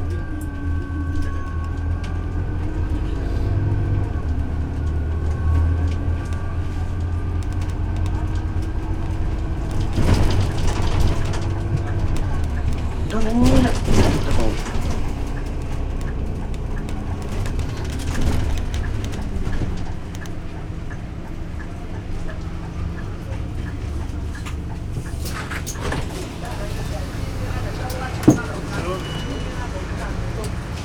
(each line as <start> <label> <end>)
0.0 Bus 57 Paris - Bus 57 30.8